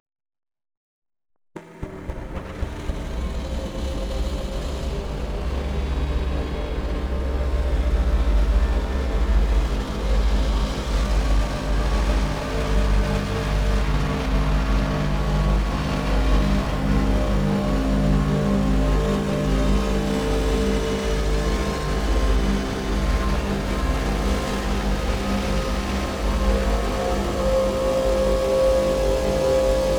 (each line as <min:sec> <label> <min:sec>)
0:01.6 drone 0:29.9
0:19.0 howl 0:29.9
0:23.7 shimmer 0:29.9